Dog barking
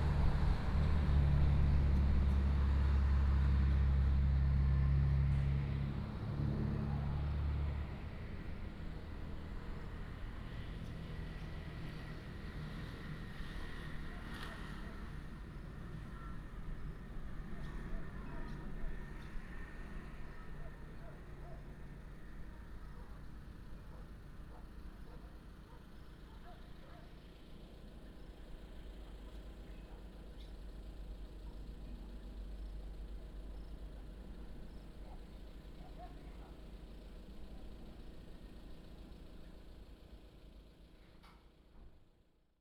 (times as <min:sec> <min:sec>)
0:23.8 0:27.2, 0:35.1 0:36.6